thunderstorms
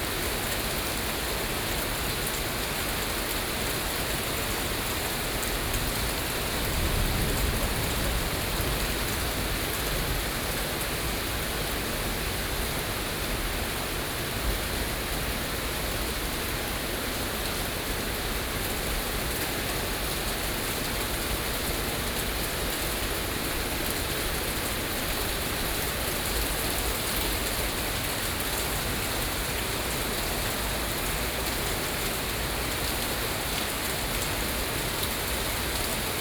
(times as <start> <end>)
6.5 9.6